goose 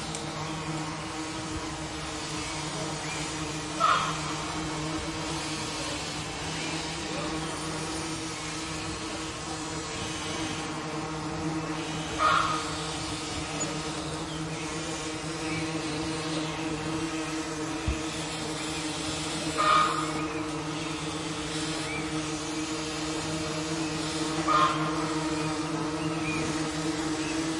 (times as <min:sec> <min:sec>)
0:03.8 0:04.1, 0:12.2 0:12.6, 0:19.6 0:20.0, 0:24.5 0:24.9